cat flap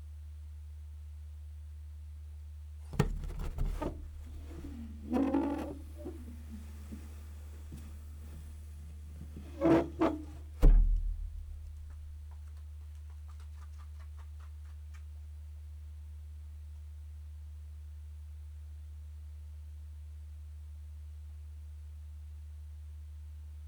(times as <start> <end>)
3.0 8.6